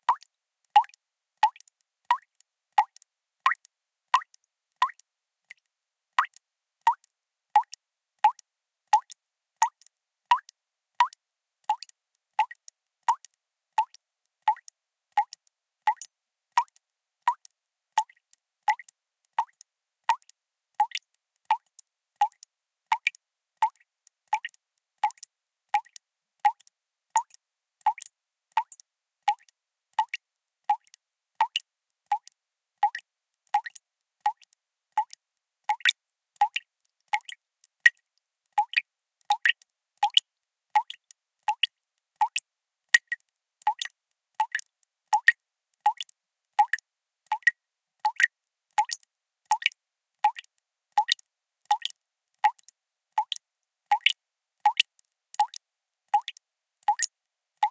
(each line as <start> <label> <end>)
0.0 background noise 57.7
0.0 Drops of water falling at a somewhat rapid rate 57.7